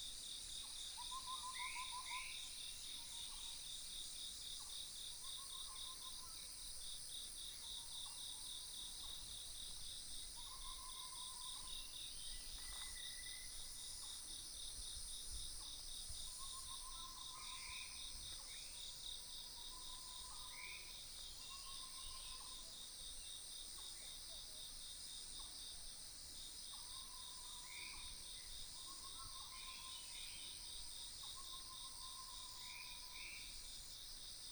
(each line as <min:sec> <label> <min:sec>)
0:26.8 Croak sounds 0:33.6